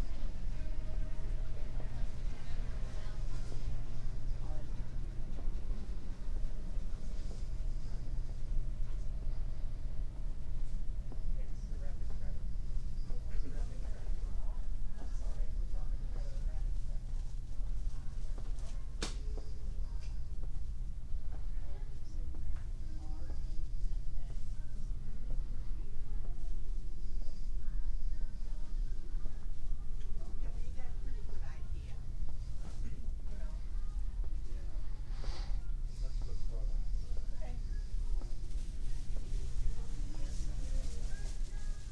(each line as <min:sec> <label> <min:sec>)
0:00.0 Conversations around a checkout counter 0:41.9